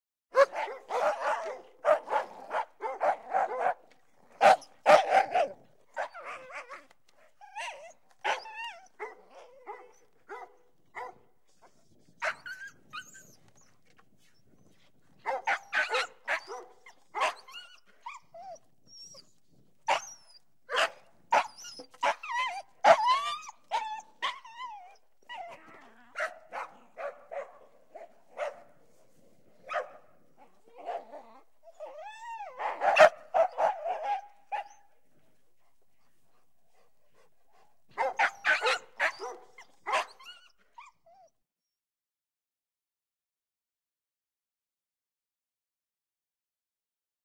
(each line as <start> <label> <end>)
0.4 Dogs Barking 6.8
0.4 whine dogs 41.4
15.2 Dogs Barking 17.5
19.9 Dogs Barking 24.4
32.4 Dogs Barking 34.8
37.9 Dogs Barking 40.2